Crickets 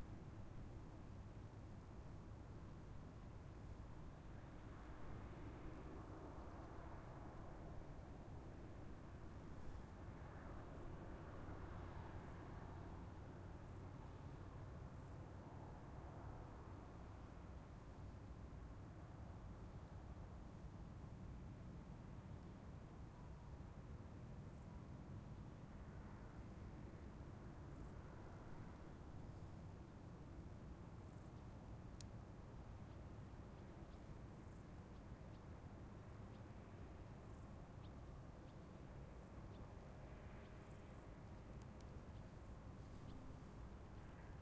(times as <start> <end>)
24.4 44.4